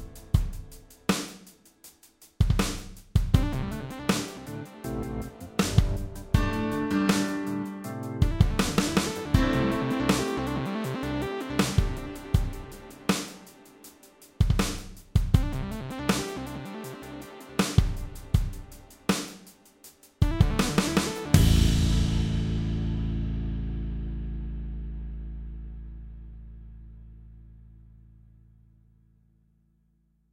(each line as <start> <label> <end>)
3.7 guitar 12.9
21.3 guitar 27.9